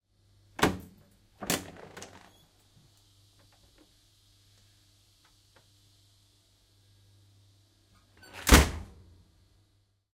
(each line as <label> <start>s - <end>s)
manual door being opened and closed on a tilt train 8.2s - 8.9s